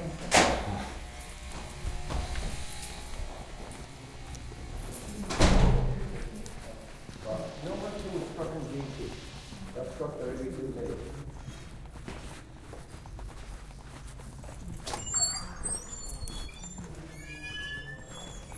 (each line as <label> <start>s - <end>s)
footsteps 0.0s - 18.5s
door close 0.2s - 0.9s
door close 5.0s - 6.2s